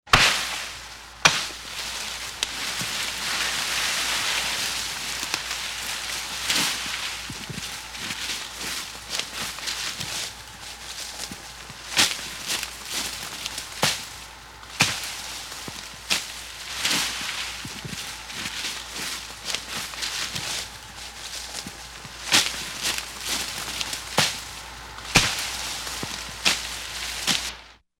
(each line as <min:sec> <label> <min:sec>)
0:00.1 wegschleppen von geäst 0:27.8